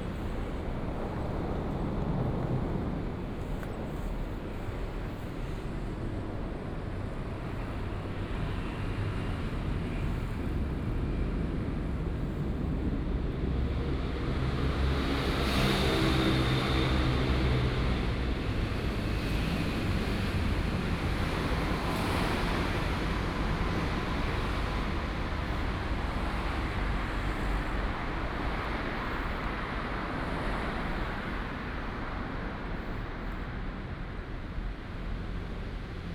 Traffic Sound 0:07.8 - 0:36.1

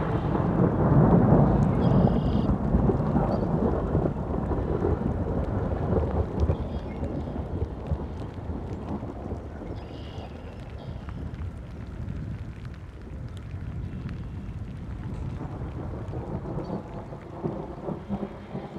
rain 0:00.0 - 0:18.7
thunderclap 0:00.0 - 0:18.7

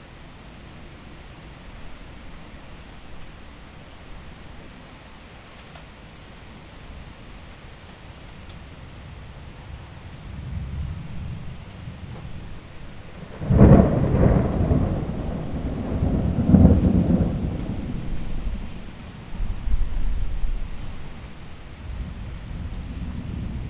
storm 0:08.7 - 0:23.6

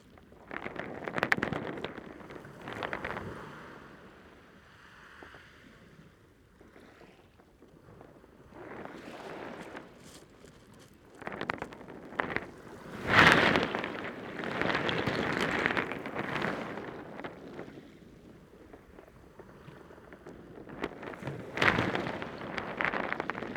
High tide waves heard from under the stones 0:11.7 - 0:23.5

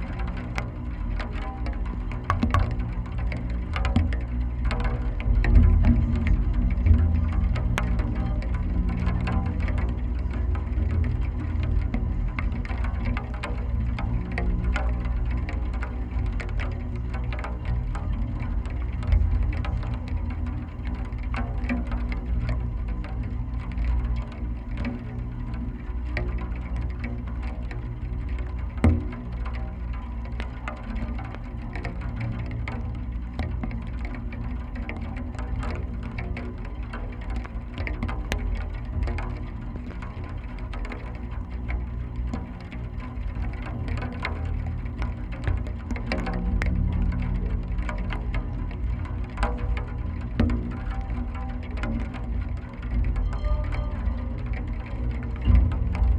Millenium Bridge wires resonating in rain 0:00.0 - 0:56.1
Drops often hit on, or very close to, the mics 0:02.3 - 0:02.9

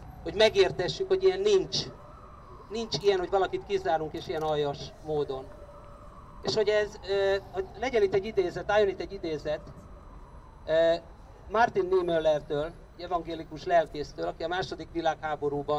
Demonstration Speeches 0:00.3 - 0:02.0
Demonstration Speeches 0:02.7 - 0:05.5

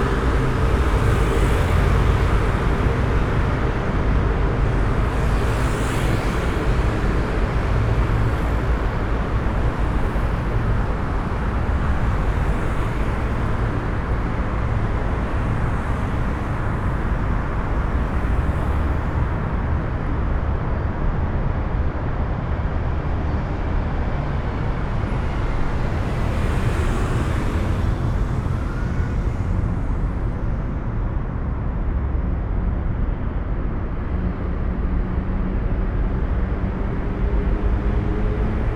traffic tunnel drone 0:00.0 - 0:38.7

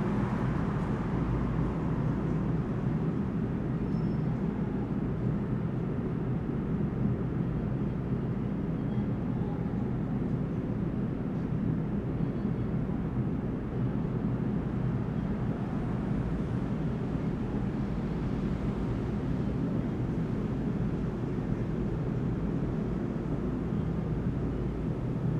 pedestrians 0:00.0 - 0:25.3
trains 0:00.0 - 0:25.3

